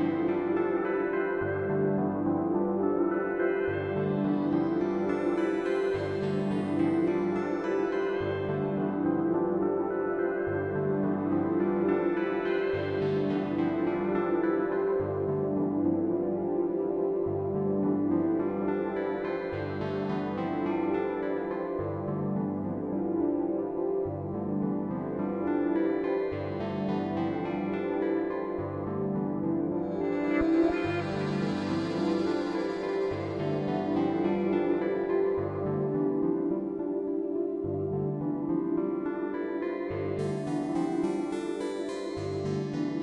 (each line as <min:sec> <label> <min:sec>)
0:00.0 synth 0:43.0
0:28.3 drone 0:36.4